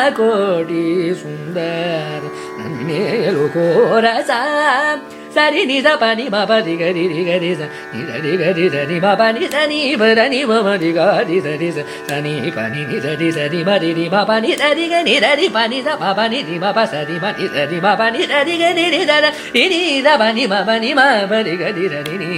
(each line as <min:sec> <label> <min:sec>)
0:00.0 Carnatic varnam 0:22.3